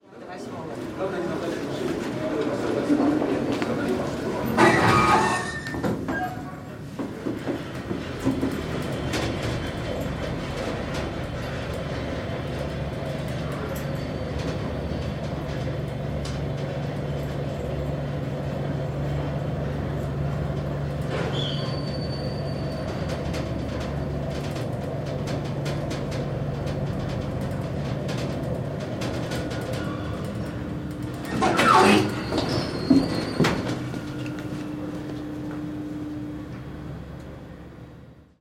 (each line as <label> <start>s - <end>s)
Elevator 0.1s - 38.4s